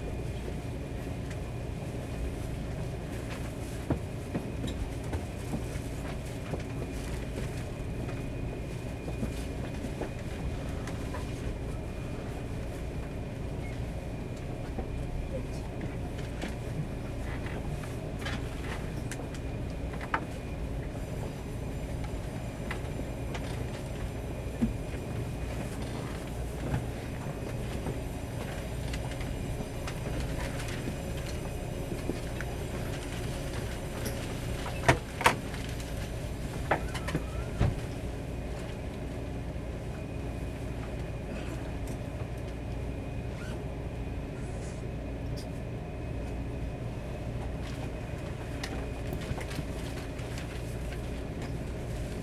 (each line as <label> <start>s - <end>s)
On the train 0.0s - 52.2s